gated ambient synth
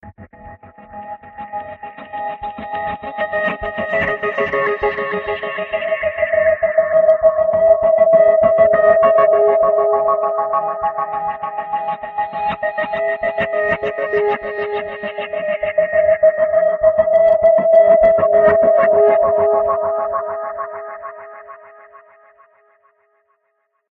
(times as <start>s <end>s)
3.6s 22.0s